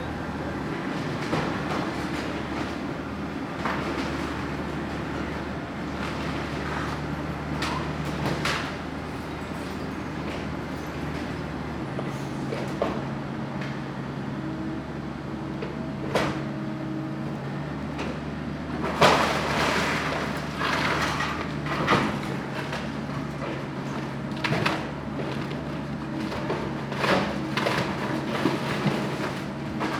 0.0s excavator is able to push the house down 29.9s
0.0s other machines and trucks work to haul away the debris 29.9s
18.7s excavator tears away at the structure 29.9s

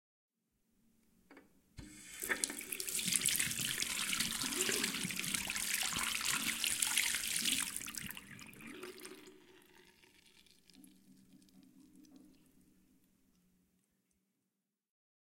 1.8s flowing water into drain 13.0s
1.9s rinse hands 9.2s

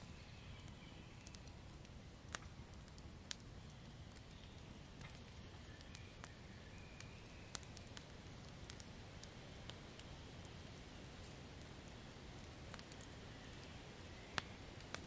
0.0s birds 1.8s
0.0s fire / burning wood 15.0s
3.4s birds 8.1s

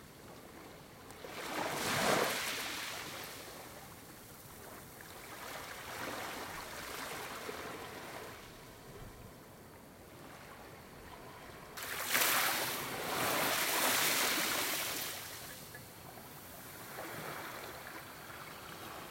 0.0s Gentle small waves lapping on shore 19.1s

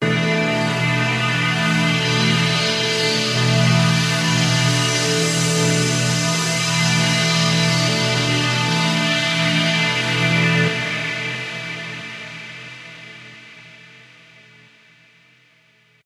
0.0s synthesizer 13.5s

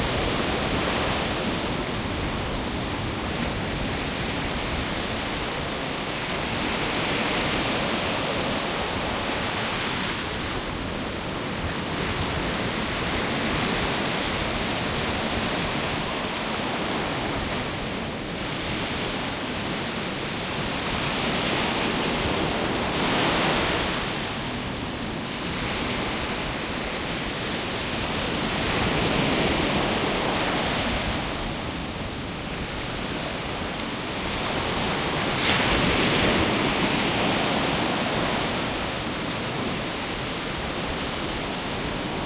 0.0s waves 42.2s

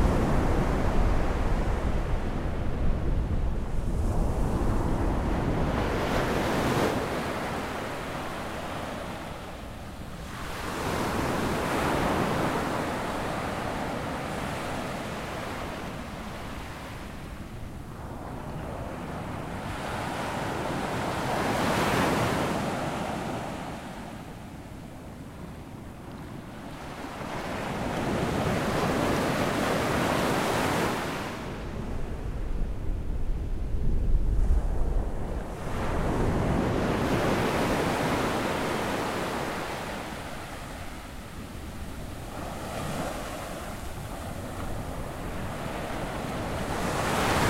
0.0s waves 47.4s

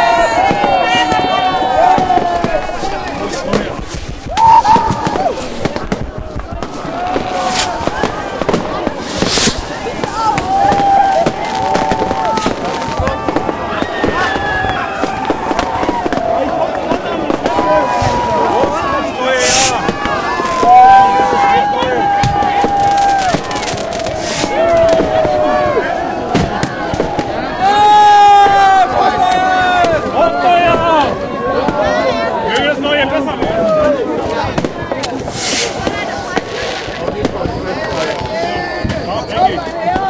0.0s shouting 3.0s
0.0s Fireworks flying about, exploding in trees 40.0s
0.0s cheering 40.0s
0.2s snow drop on top of the Zoom H2 27.8s
10.0s shouting 31.2s

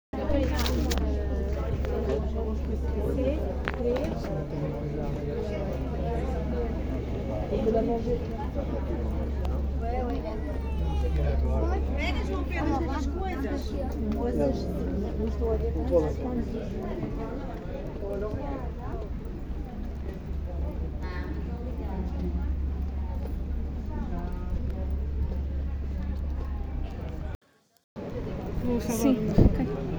0.2s people 27.4s
28.0s people 29.9s

